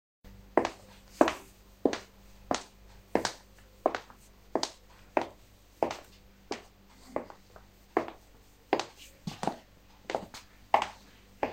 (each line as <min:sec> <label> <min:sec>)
0:00.5 Walking in heels 0:11.5